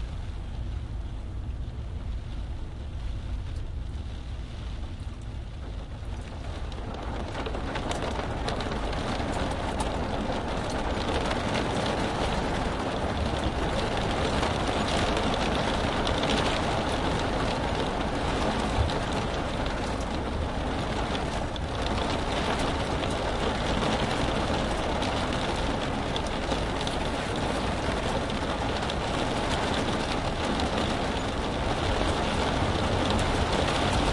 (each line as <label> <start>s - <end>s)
rain beating on a truck cab 0.0s - 34.1s